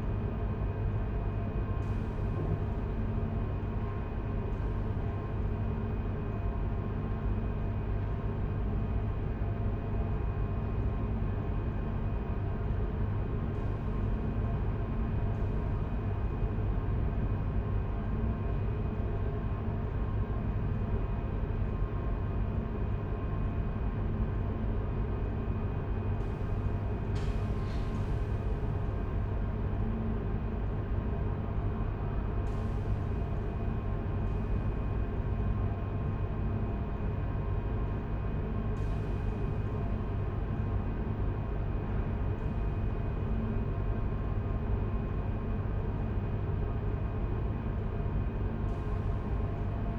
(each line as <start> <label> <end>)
10.9 stage and light ventilation 49.9